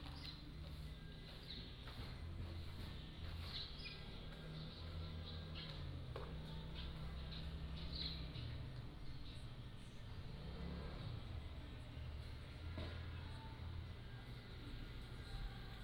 Birds singing 0:00.0 - 0:10.7

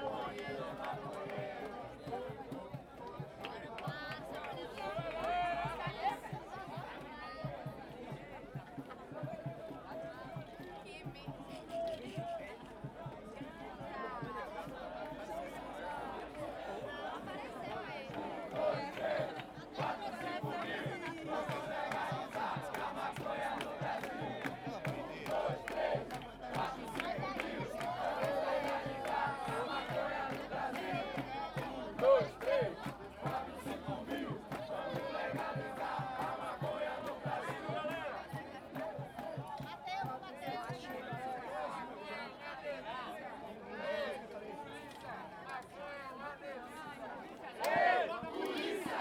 peaceful legalise marijuana march 0:00.0 - 0:49.0

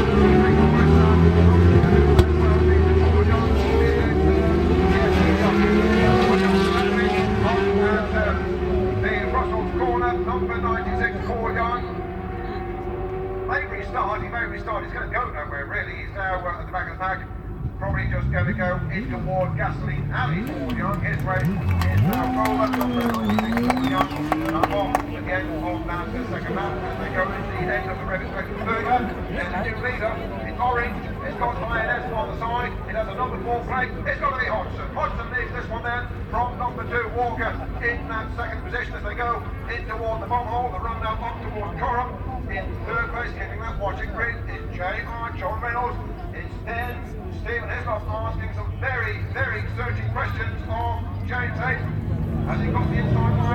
superbikes 0:17.2 - 0:53.5

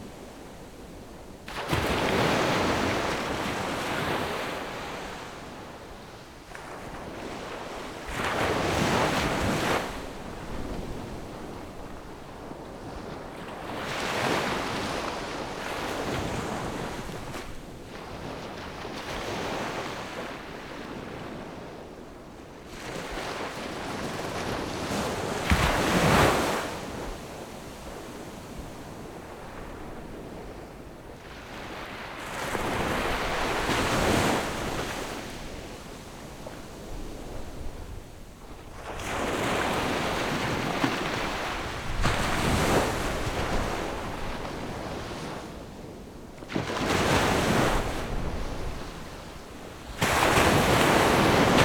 waves 0:00.0 - 0:51.6

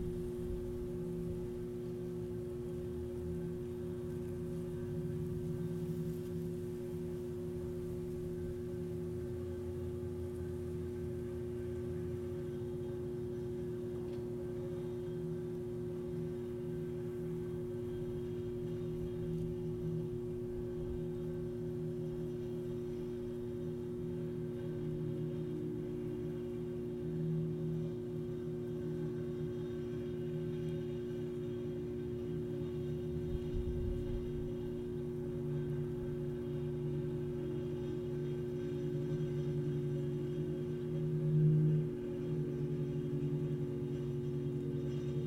electric substation 0:00.0 - 0:45.2
hum of overhead power lines 0:00.0 - 0:45.2

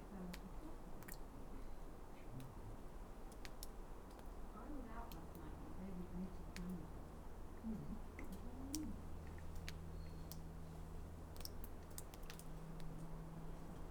dripping water 0:06.2 - 0:13.9

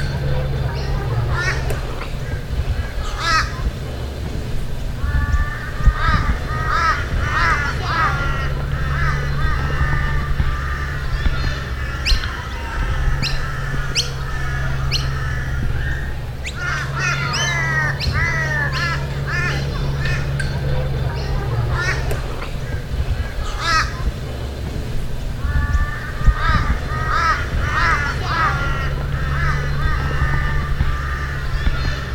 Crows 0:00.0 - 0:03.8
Noisy Miners 0:00.0 - 0:32.1
children in the playground in the distance 0:00.0 - 0:32.1
Crows 0:05.0 - 0:24.2
Crows 0:25.4 - 0:32.1

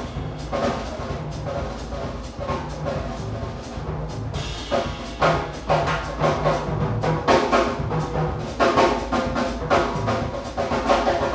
Band 0:00.0 - 0:11.3

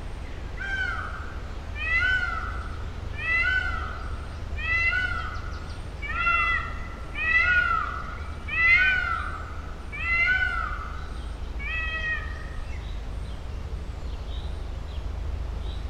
birds 0:00.0 - 0:15.8
wind through tree crowns 0:00.0 - 0:15.8
screams and other voices of peacocks 0:00.4 - 0:13.0

